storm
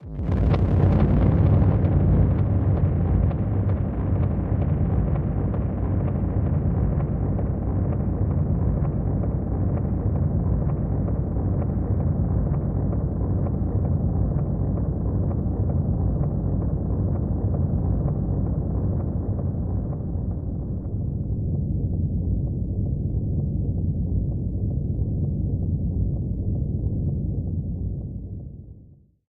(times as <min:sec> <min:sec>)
0:00.0 0:22.4